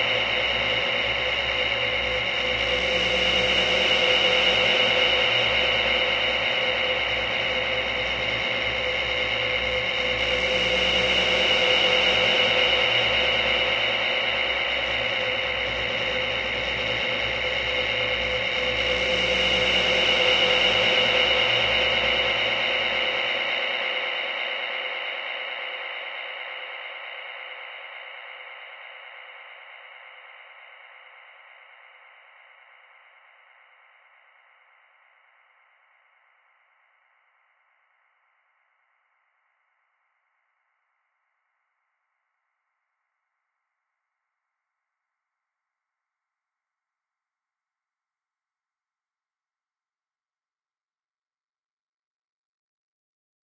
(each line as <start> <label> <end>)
0.0 drone 31.8